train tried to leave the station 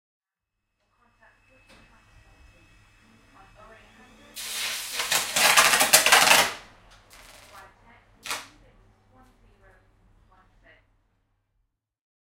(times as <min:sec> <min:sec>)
0:00.8 0:10.5